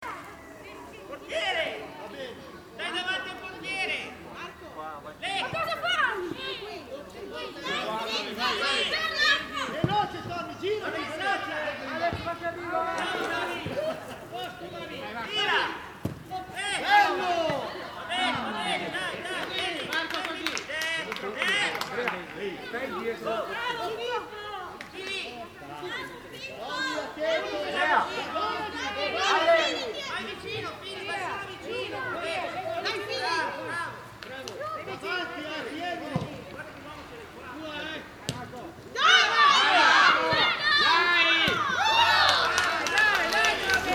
kids training football 0.0 - 43.9

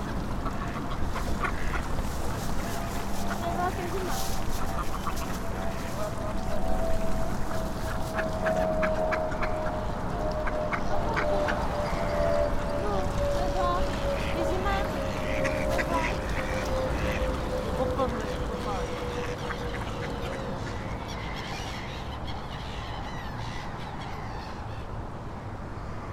railway bridge 0.0 - 26.1
river 0.0 - 26.1

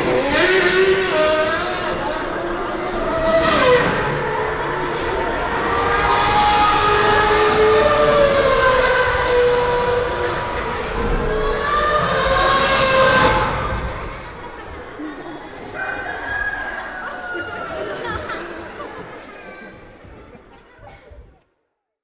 sound of the mostly young audience 0.0 - 21.4
music theatre dance piece for children 3.8 - 21.4

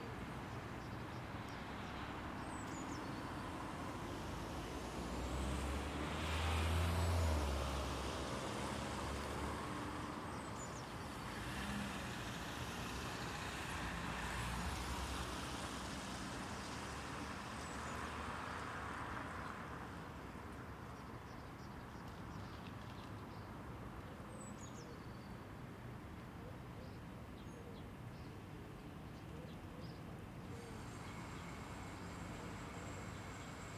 cars 1.7 - 20.9
cars 30.5 - 33.7

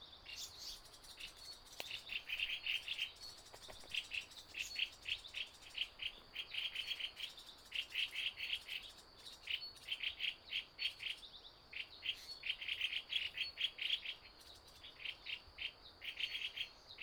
Various bird calls 0.0 - 9.0
Insect noise 0.1 - 17.0

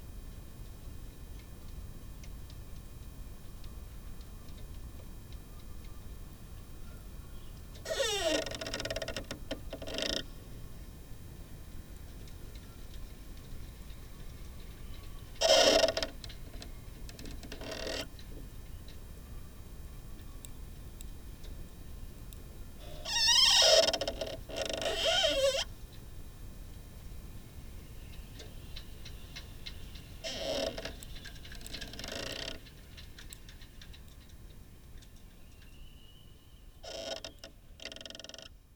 sailing yacht 27.2 - 36.2

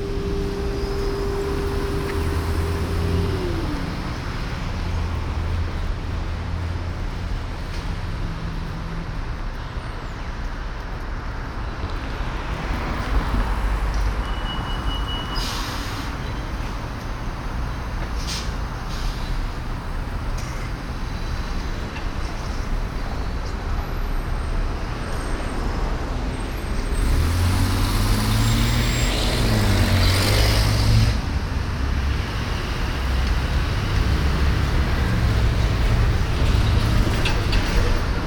traffic 0.0 - 38.2

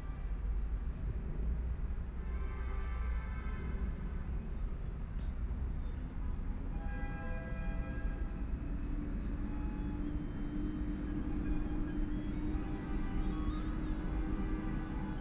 sound traveling through the subway 5.6 - 15.2
Traffic Sound 8.0 - 15.2
Playing flute sounds 8.9 - 15.2

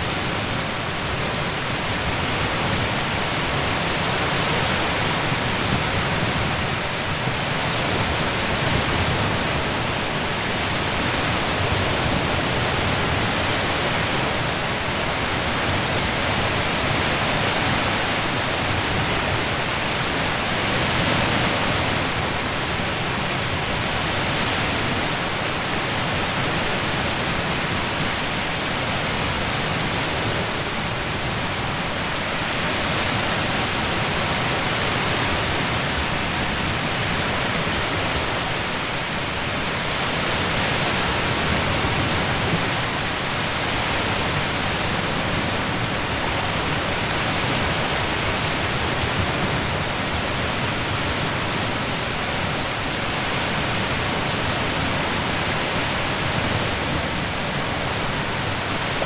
Seashore from afar 0.0 - 59.0

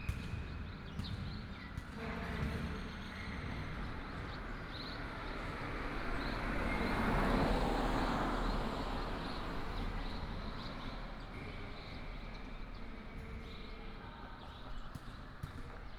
traffic sound 1.9 - 13.1

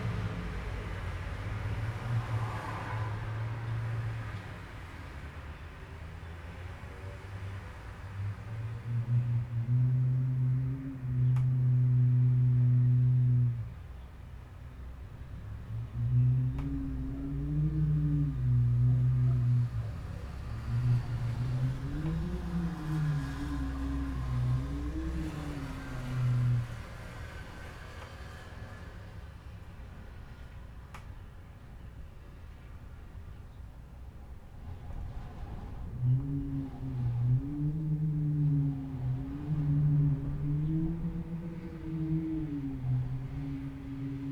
wind 0.0 - 44.3

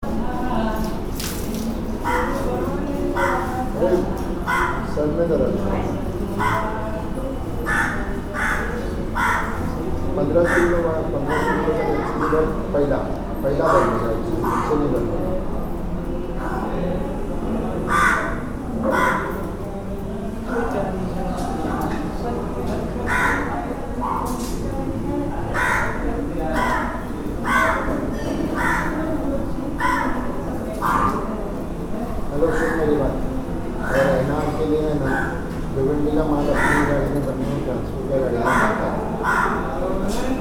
crow 4.5 - 4.9
crow 7.6 - 9.8
crow 10.4 - 12.4
crow 17.8 - 19.4
crow 23.1 - 24.2
crow 25.5 - 29.2
crow 29.8 - 30.2
crow 30.8 - 31.2
crow 36.4 - 37.1
crow 38.4 - 39.8

